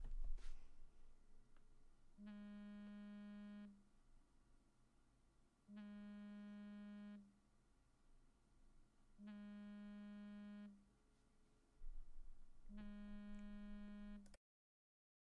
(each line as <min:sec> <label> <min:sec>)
0:02.2 short cellphone vibration 0:03.8
0:05.7 short cellphone vibration 0:07.2
0:09.2 short cellphone vibration 0:10.8
0:12.7 short cellphone vibration 0:14.2